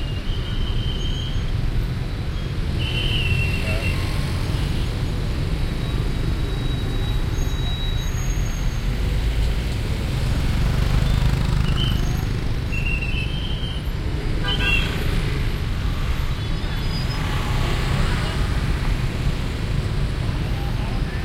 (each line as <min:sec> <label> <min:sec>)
0:00.0 Heavy Traffic at Crossroad 0:21.2
0:00.0 all kinds of vehicles passing 0:21.2
0:05.8 Whistles of police men 0:08.8